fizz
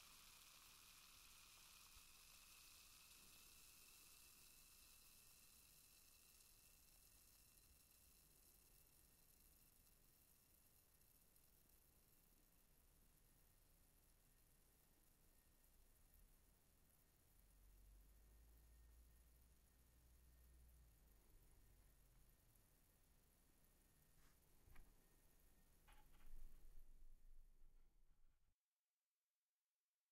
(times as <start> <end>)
0.0 22.2